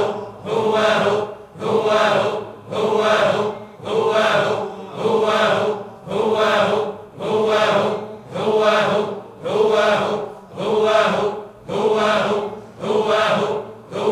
voices 0:00.0 - 0:14.1

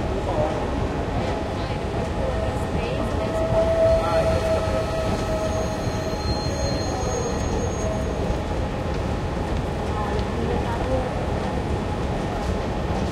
train 0:00.0 - 0:13.1

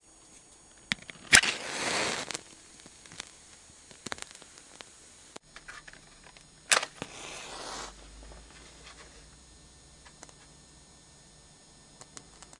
match being struck on matchbox and igniting 0:00.5 - 0:08.2

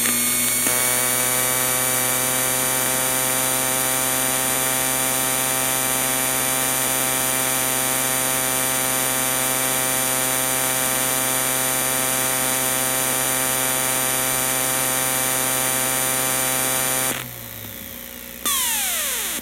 Broken optical drive spinning up and making glitchy noises 0:18.5 - 0:19.4

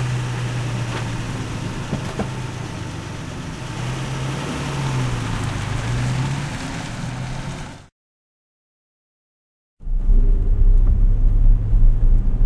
ignition 0:00.0 - 0:04.2
e-brake 0:00.0 - 0:07.9
driving away 0:00.0 - 0:07.9
car door 0:01.9 - 0:02.4

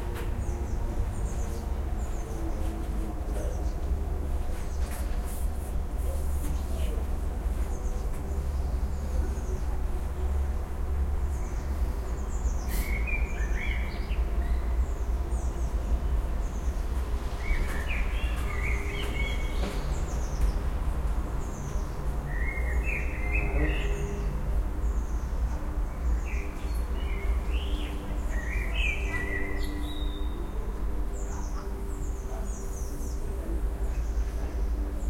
Birds 0:00.0 - 0:05.3
Birds 0:06.0 - 0:35.0

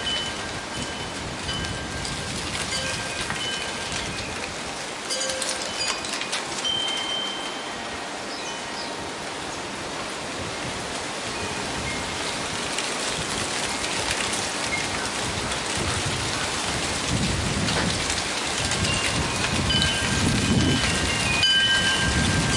wind chime 0:00.0 - 0:09.3
Gentle breeze 0:00.0 - 0:22.5
dry leaves rolling from right to left 0:00.0 - 0:22.5
wind chime 0:11.3 - 0:12.1
wind chime 0:18.8 - 0:22.5

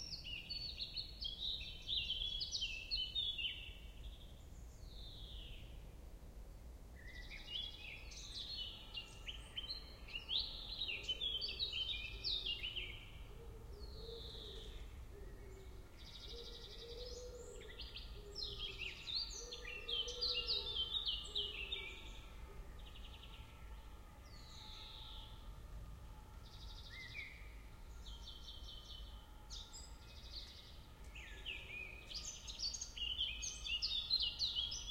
poplar tree 0:00.0 - 0:34.9

